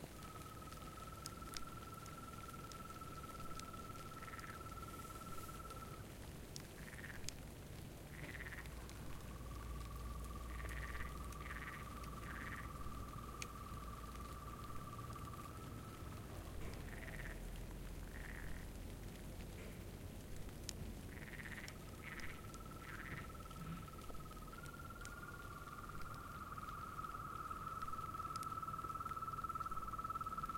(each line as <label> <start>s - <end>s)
crickets 0.0s - 30.5s
frogs 0.0s - 30.5s